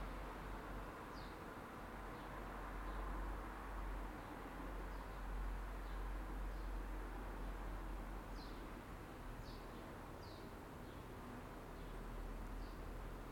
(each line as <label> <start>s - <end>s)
sparrows 1.1s - 1.5s
sparrows 4.2s - 6.8s
sparrows 8.3s - 8.8s
sparrows 9.4s - 13.1s